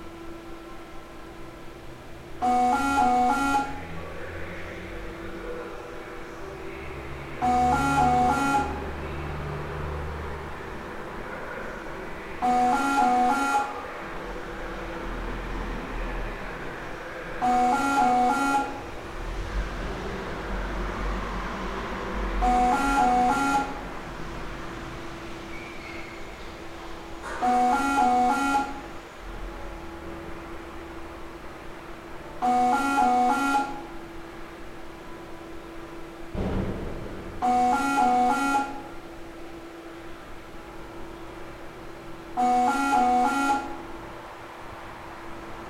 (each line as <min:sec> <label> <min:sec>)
0:00.0 Reverse vending machine 0:04.3
0:05.2 Reverse vending machine 0:45.6